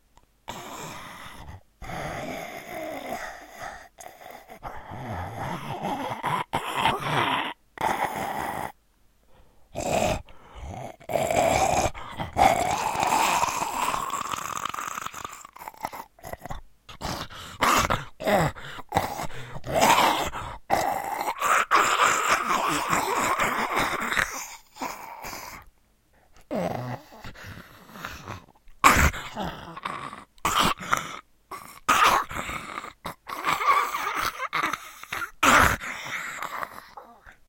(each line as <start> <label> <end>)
11.1 Zombie freak biting 25.7
26.4 Zombie freak biting 37.1